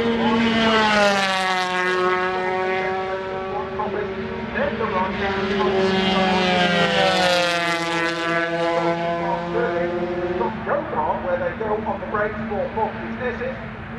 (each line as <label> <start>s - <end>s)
125 qualifying 0.0s - 13.9s
commentary 3.2s - 13.9s